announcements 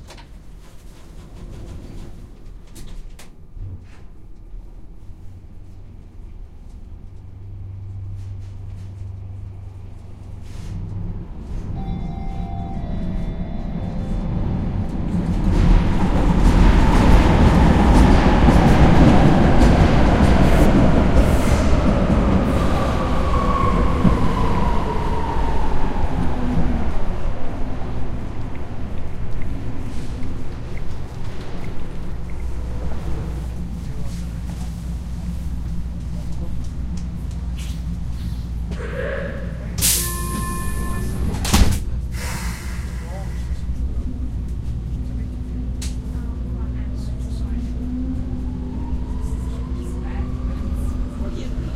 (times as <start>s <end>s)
11.6s 16.6s, 45.0s 51.7s